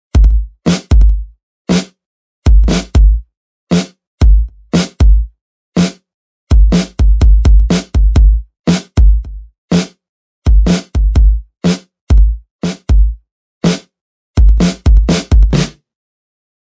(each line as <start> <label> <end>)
0.1 pop beat 1.8
2.5 pop beat 5.9
6.5 pop beat 9.9
10.5 pop beat 13.8
14.4 pop beat 15.8